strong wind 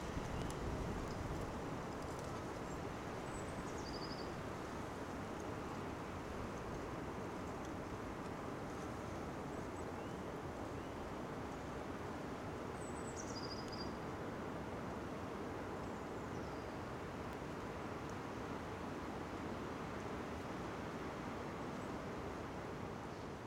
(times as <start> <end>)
0.0 3.6